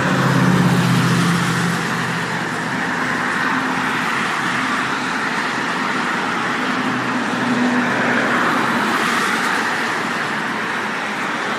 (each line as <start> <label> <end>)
0.0 Road Noise 11.5